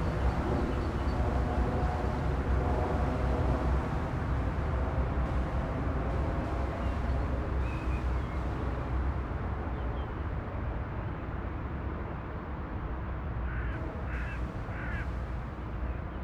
plane crossing the areal 0.0 - 10.3
traffic from the nearby highway 0.0 - 16.2

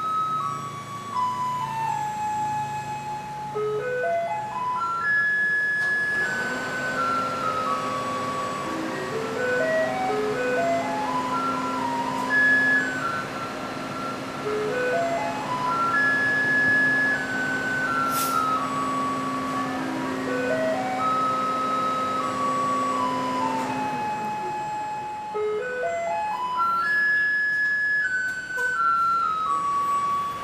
garbage truck approaches and stops at the curb 0.0 - 30.4
truck produces the near-deafening melody 0.0 - 30.4
truck's compactor is also activated 5.0 - 24.8

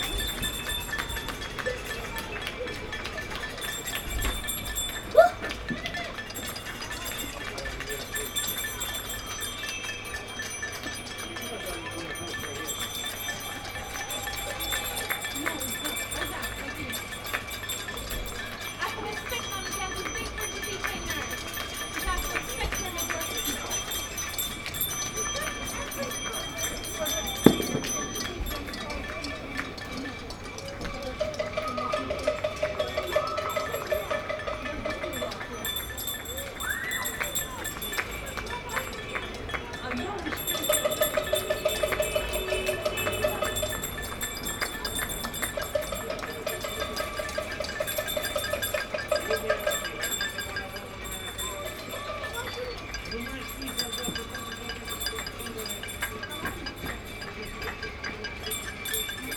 Clapping 0.0 - 59.3

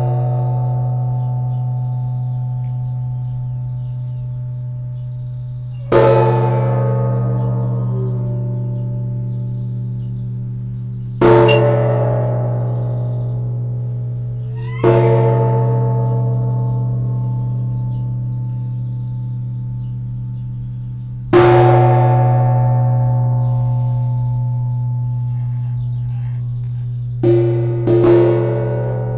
wasser gong 21.8 - 29.1

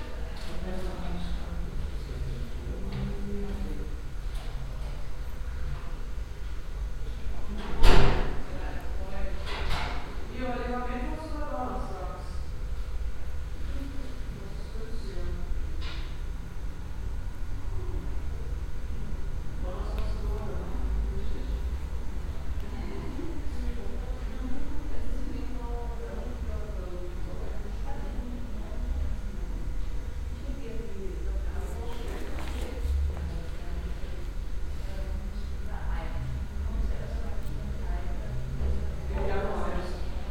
people talking in a reverbing room 0.0 - 40.3
receptionists talking to patients 0.0 - 40.3

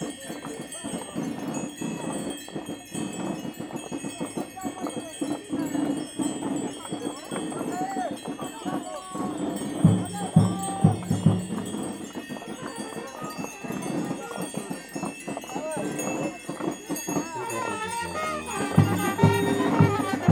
dancing in the streets 0.0 - 20.3
yell in the streets 7.7 - 11.2
yell in the streets 17.2 - 20.3
fanfare 17.4 - 20.3

